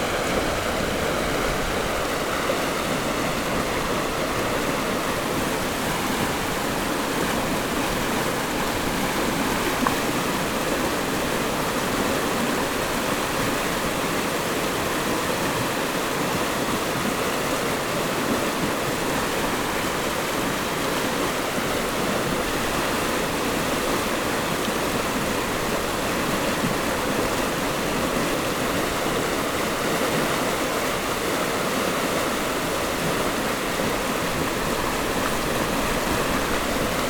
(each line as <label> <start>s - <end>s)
Stream after Typhoon 0.0s - 37.0s